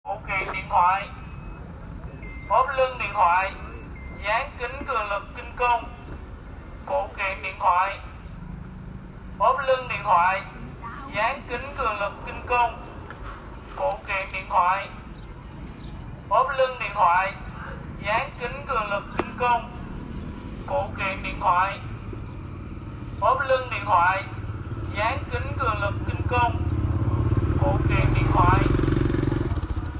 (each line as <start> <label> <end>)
2.2 Man sell stuff 8.1
16.3 Man sell stuff 20.0